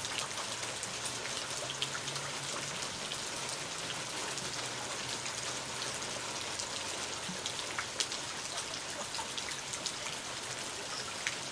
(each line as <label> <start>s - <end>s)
rain 0.0s - 11.5s